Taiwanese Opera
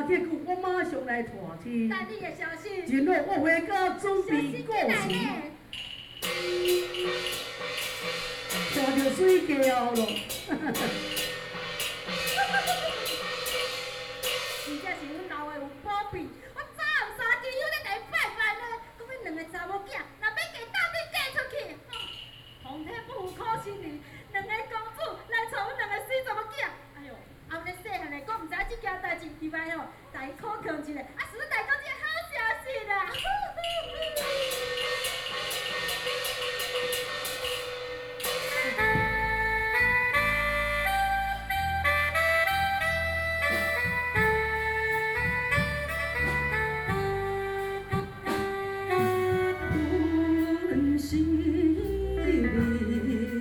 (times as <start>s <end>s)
5.0s 15.9s, 33.1s 53.4s